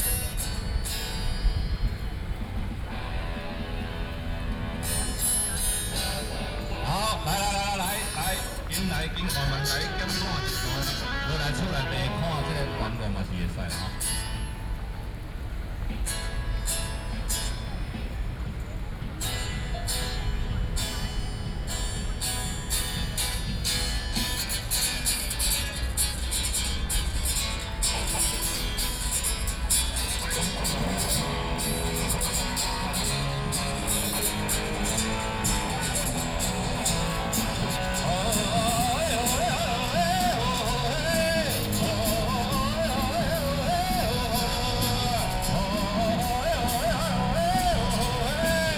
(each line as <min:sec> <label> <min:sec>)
0:05.2 Taiwanese singer 0:14.2
0:28.0 Taiwanese singer 0:48.7